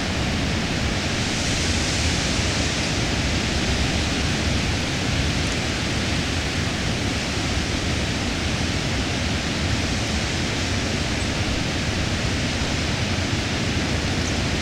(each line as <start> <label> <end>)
0.0 Blustery, treetop winds 14.6